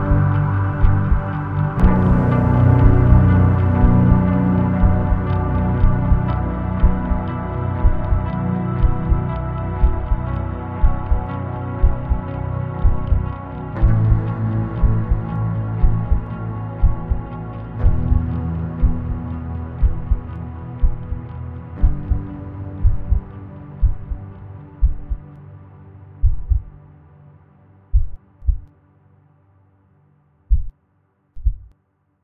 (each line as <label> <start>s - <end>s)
drums 0.0s - 25.2s
Guitar 0.0s - 27.8s
bass 0.0s - 28.7s
drums 26.2s - 26.7s
drums 28.0s - 28.7s
drums 30.5s - 30.7s